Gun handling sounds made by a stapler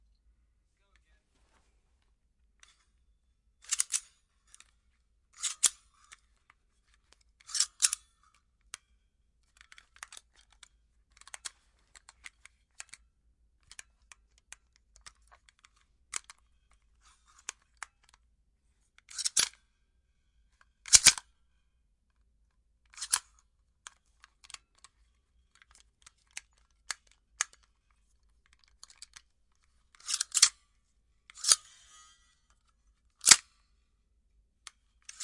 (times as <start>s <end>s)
3.6s 4.2s, 7.4s 8.0s, 20.8s 21.2s, 29.9s 30.6s, 33.2s 33.6s, 35.0s 35.2s